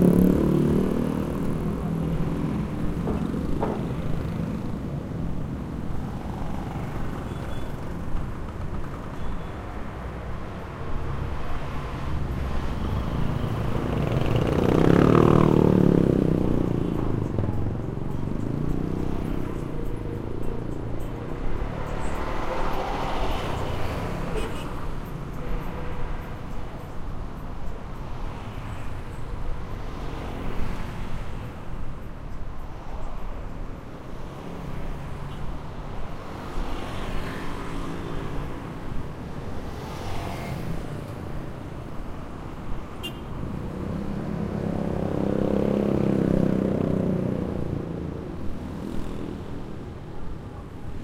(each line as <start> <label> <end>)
0.0 traffic 51.0